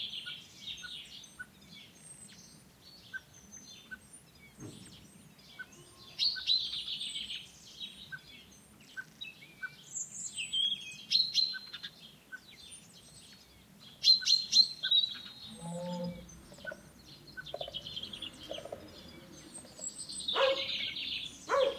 birds 0:00.0 - 0:21.7
cow 0:15.5 - 0:16.8
sheepdog 0:20.3 - 0:20.8
sheepdog 0:21.5 - 0:21.7

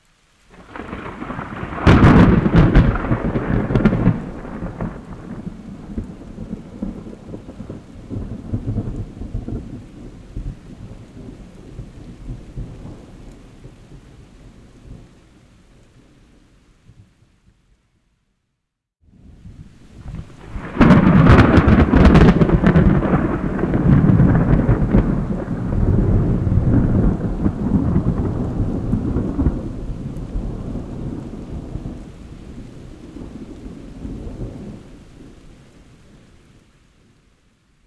Big Thunder Crashes 0:00.5 - 0:06.9
Big Thunder Crashes 0:20.0 - 0:32.0

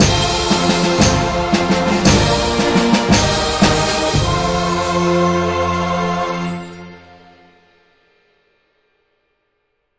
orchestral jingle win sound 0:00.0 - 0:07.5

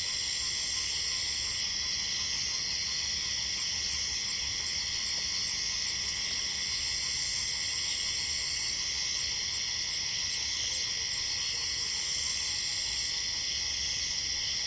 Cicades 0:00.0 - 0:14.6

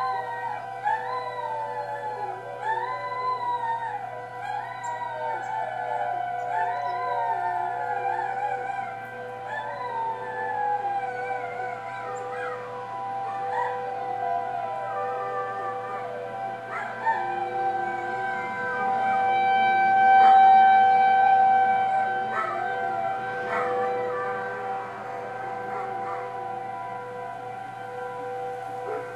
Church bells 0:00.0 - 0:29.1
Civil Defense Tornado Sirens 0:00.0 - 0:29.1
dogs in the neighborhood begin to howl and bark 0:00.0 - 0:29.1
Birds are chirping 0:00.1 - 0:10.4
Birds are chirping 0:11.4 - 0:14.3

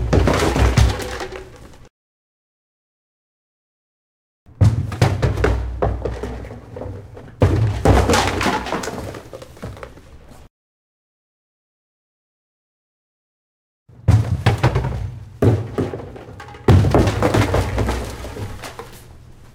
trash can plastic bin kick over angrily 0:00.0 - 0:01.6
gritty garbage fall out 0:00.0 - 0:01.9
trash can plastic bin kick over angrily 0:04.5 - 0:09.4
gritty garbage fall out 0:04.6 - 0:10.0
trash can plastic bin kick over angrily 0:14.0 - 0:18.9
gritty garbage fall out 0:14.0 - 0:19.2

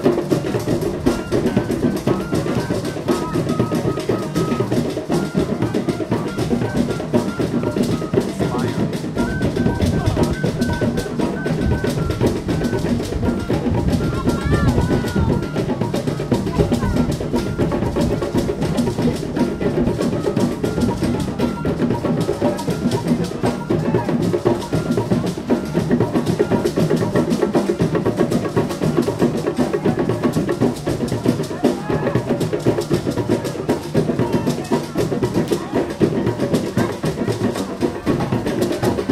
flute 0:00.0 - 0:39.1
improvised drum grooves 0:00.0 - 0:39.1

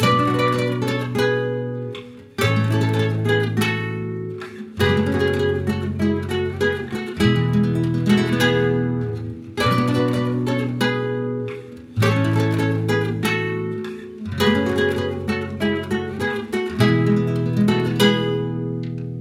guitar by thirds and sixths 0:00.0 - 0:19.2

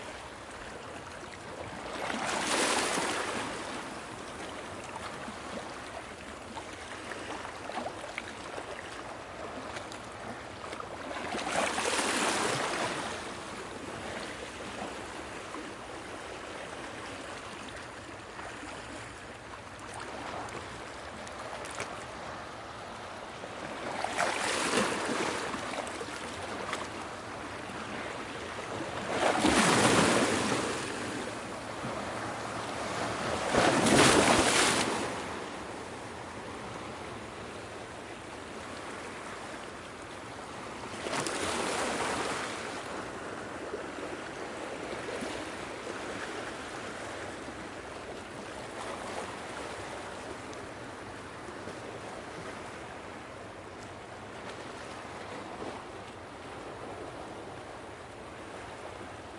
waves ocean or lake lapping splashing deep sloshy tone on rocks 0:24.0 - 0:25.5
waves ocean or lake lapping splashing deep sloshy tone on rocks 0:29.0 - 0:31.2
waves ocean or lake lapping splashing deep sloshy tone on rocks 0:32.7 - 0:35.1

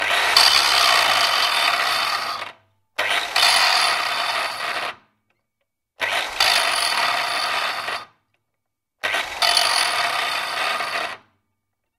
Angle grinder 0:00.0 - 0:05.0
Angle grinder 0:06.0 - 0:08.1
Angle grinder 0:09.0 - 0:11.3

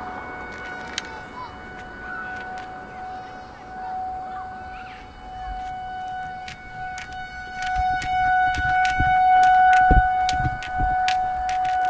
Kids scream 0:00.0 - 0:05.7
Kids playing 0:00.0 - 0:11.8
footsteps 0:00.0 - 0:11.8
light wind 0:00.0 - 0:11.8
tornado siren test 0:00.0 - 0:11.8
traffic along brick streets 0:00.0 - 0:11.8

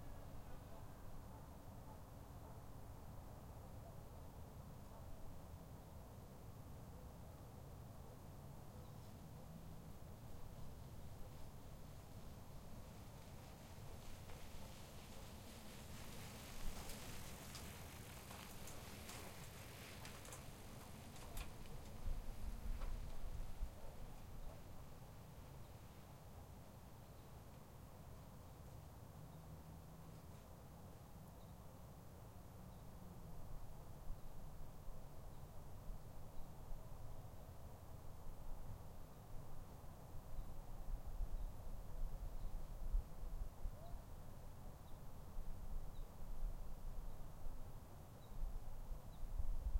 Distant dogs 0:00.5 - 0:02.9
Distant dogs 0:04.8 - 0:05.3
cars driving slowly 0:09.3 - 0:23.0
Distant dogs 0:12.6 - 0:24.9
Distant dogs 0:43.8 - 0:44.1

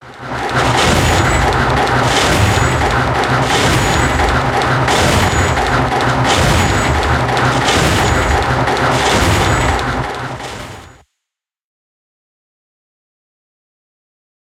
pulsating machine-like piston 0:00.0 - 0:11.0

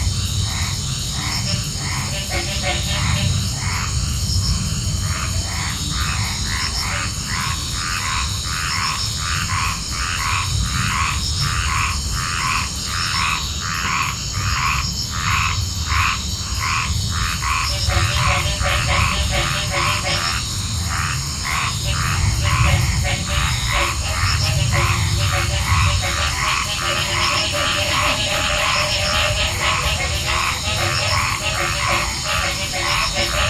insects 0:00.0 - 0:33.4

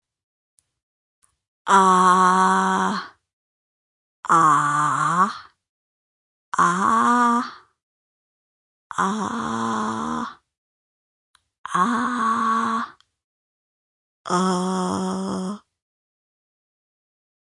Quiet 'Aaaaah' sounds 0:01.7 - 0:03.2
Quiet 'Aaaaah' sounds 0:04.2 - 0:05.6
Quiet 'Aaaaah' sounds 0:06.6 - 0:07.7
Quiet 'Aaaaah' sounds 0:08.9 - 0:10.4
Quiet 'Aaaaah' sounds 0:11.7 - 0:13.0
Quiet 'Aaaaah' sounds 0:14.3 - 0:15.7

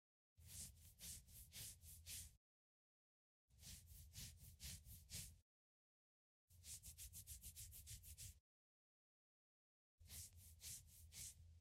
scratches on someones head or leg 0:00.4 - 0:02.4
scratches on someones head or leg 0:03.6 - 0:05.4
scratches on someones head or leg 0:06.6 - 0:08.4
scratches on someones head or leg 0:10.1 - 0:11.4

